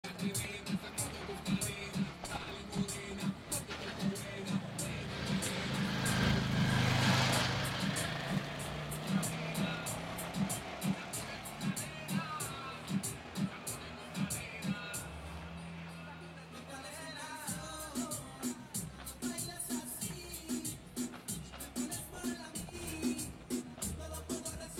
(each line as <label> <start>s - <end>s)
gathered people 0.0s - 6.6s
gathered people 7.3s - 24.7s